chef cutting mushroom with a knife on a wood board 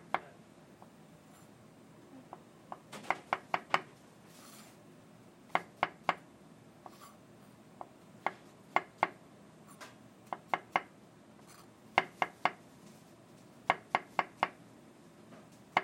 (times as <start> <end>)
10.3 10.9, 11.5 12.6, 13.6 14.6